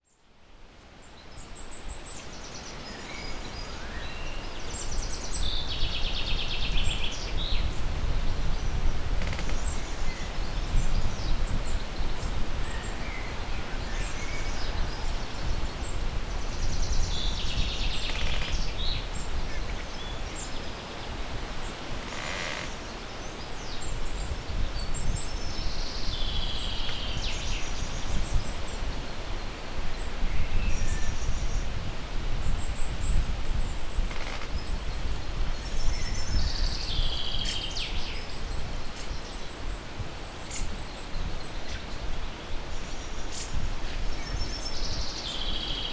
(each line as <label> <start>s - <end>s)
crackling tree 21.9s - 22.9s